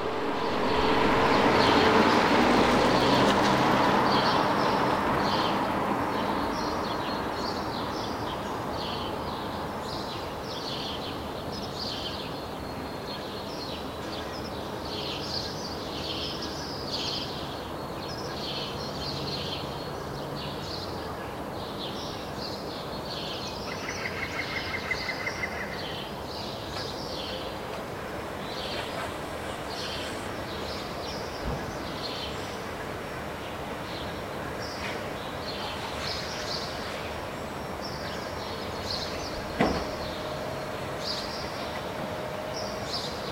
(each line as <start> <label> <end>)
0.0 cars 11.2
0.7 birds 43.3